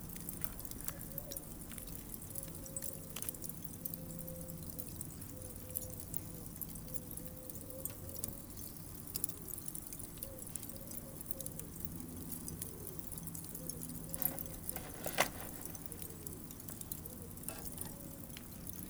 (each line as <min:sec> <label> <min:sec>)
0:00.0 Barbecue 0:18.8